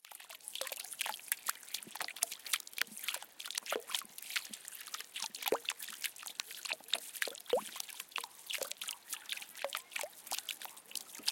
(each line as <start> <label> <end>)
0.0 Irregular Dropping Water 11.3